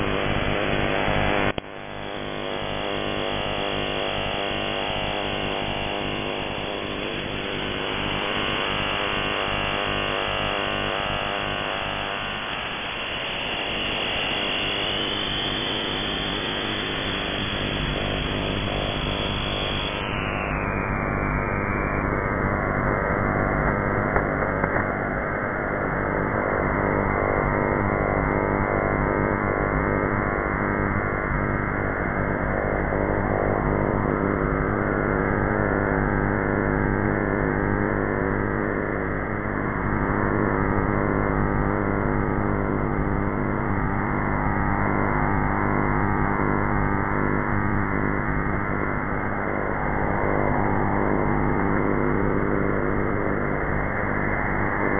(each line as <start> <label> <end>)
0.0 shortwave radio 34.9
35.6 shortwave radio 54.9